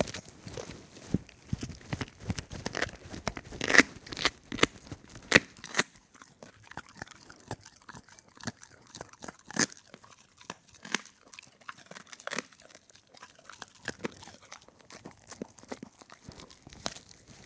Dog gnawing a bone 0:00.0 - 0:17.4

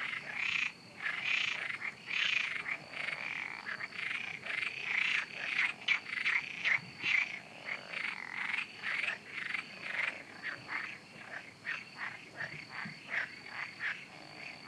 Frogs 0:00.0 - 0:14.6
crickets 0:00.0 - 0:14.6
insects 0:00.0 - 0:14.6

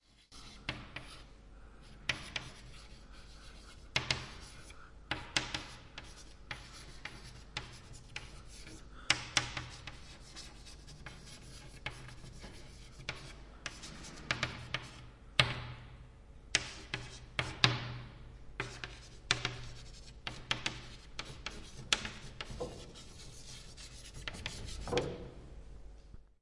writing with chalk on a blackboard 0:00.0 - 0:15.6
writing with chalk on a blackboard 0:16.5 - 0:18.0
writing with chalk on a blackboard 0:18.6 - 0:25.3

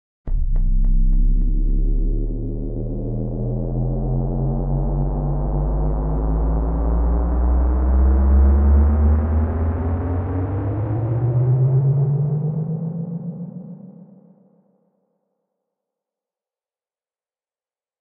strong, aggressive electronic growl that rises up 0:00.3 - 0:12.8

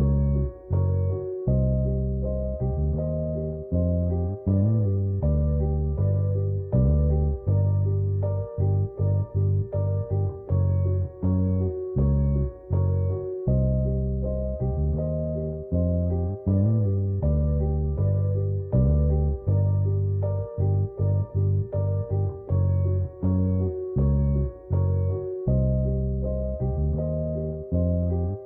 bass 0:00.0 - 0:28.4
piano 0:00.0 - 0:28.4

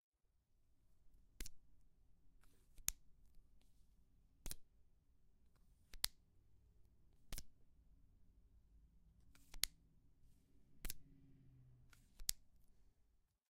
Opening and closing highlighter cap 0:09.3 - 0:09.8

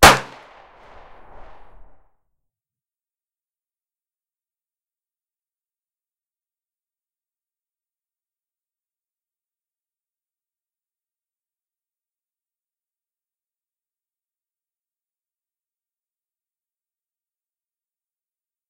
gun shot 0:00.0 - 0:01.8

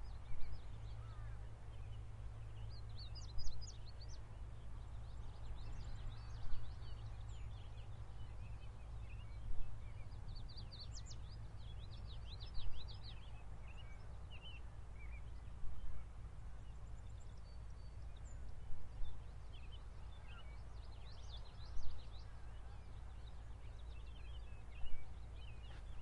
birds 0:00.0 - 0:26.0

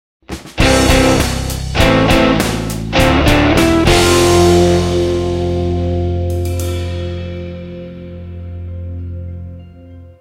drums 0:00.2 - 0:08.6
guitar 0:00.2 - 0:10.2

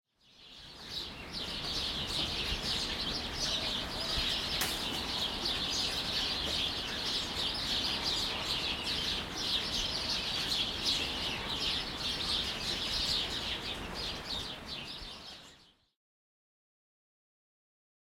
Birds 0:00.1 - 0:16.0

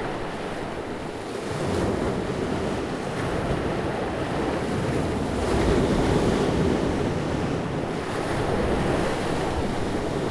waves on the rocky seashore 0:00.0 - 0:10.3

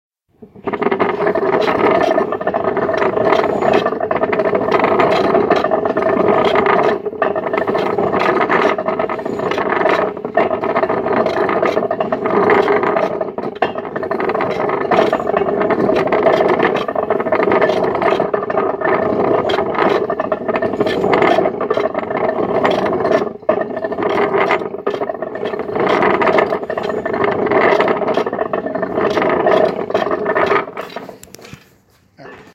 cider press 0:00.4 - 0:31.8

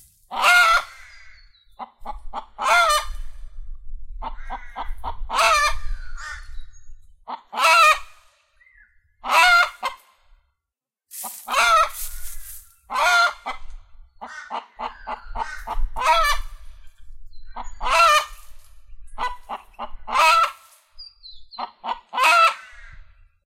chicken clucking out an alarm call 0:00.3 - 0:01.1
chicken clucking out an alarm call 0:01.7 - 0:03.2
chicken clucking out an alarm call 0:04.2 - 0:06.6
chicken clucking out an alarm call 0:07.3 - 0:08.1
chicken clucking out an alarm call 0:09.2 - 0:10.0
chicken clucking out an alarm call 0:11.4 - 0:12.0
chicken clucking out an alarm call 0:12.9 - 0:16.6
chicken clucking out an alarm call 0:17.6 - 0:18.4
chicken clucking out an alarm call 0:19.2 - 0:20.7
chicken clucking out an alarm call 0:21.5 - 0:23.0

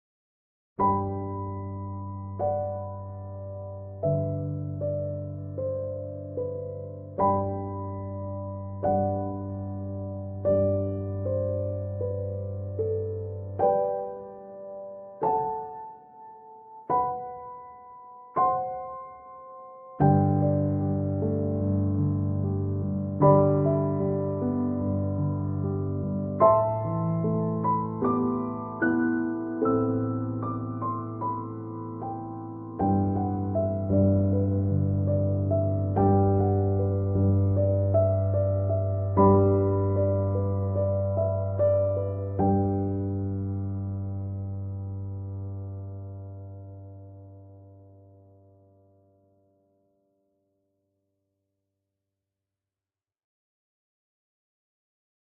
Messy Love Piano in G Major 0:00.8 - 0:49.7

